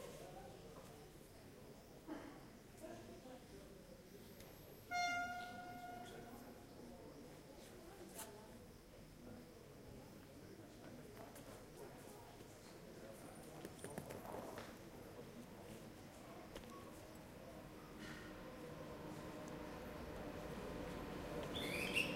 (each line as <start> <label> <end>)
18.3 train Passing by 22.1